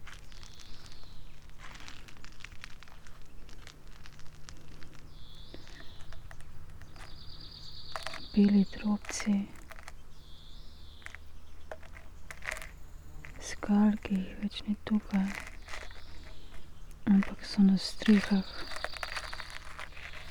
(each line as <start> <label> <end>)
8.0 poems 9.8
13.3 poems 16.3
17.0 poems 20.3